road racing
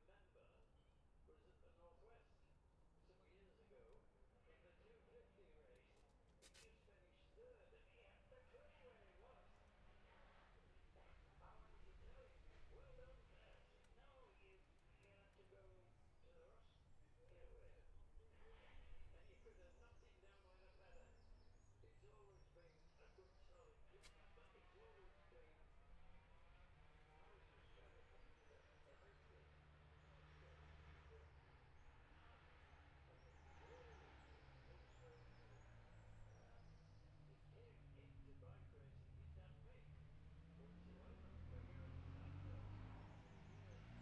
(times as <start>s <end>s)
25.0s 44.0s